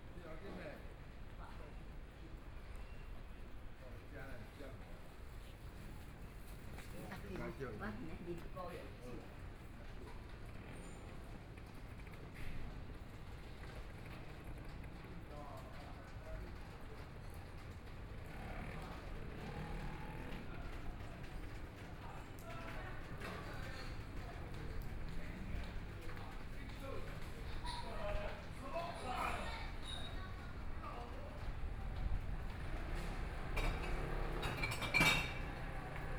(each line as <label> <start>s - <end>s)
Traffic Sound 18.0s - 36.1s